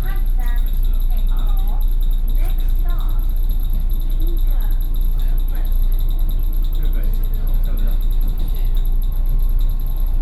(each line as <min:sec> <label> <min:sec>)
0:00.0 inside the Trains 0:10.2